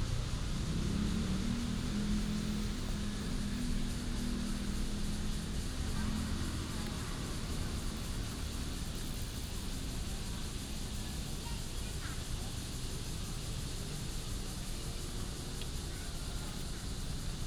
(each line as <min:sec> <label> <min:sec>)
0:00.0 Traffic Sound 0:12.2
0:00.0 Cicadas cry 0:17.4